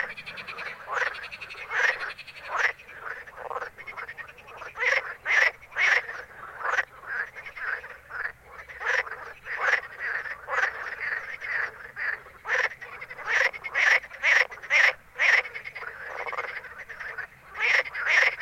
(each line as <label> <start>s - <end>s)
frogs 0.0s - 18.4s